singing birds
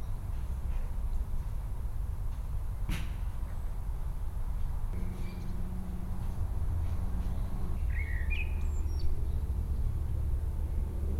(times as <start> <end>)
5.0 6.0, 7.2 9.8